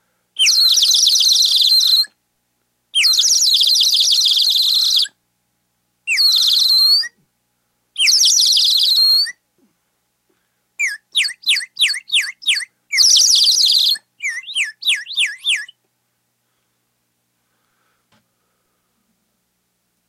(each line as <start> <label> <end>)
0.4 water bird whistle 2.1
3.0 water bird whistle 5.1
6.1 water bird whistle 7.2
8.0 water bird whistle 9.4
10.8 water bird whistle 15.8